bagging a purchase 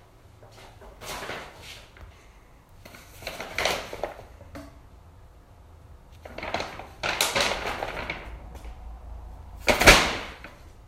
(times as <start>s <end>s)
6.2s 9.0s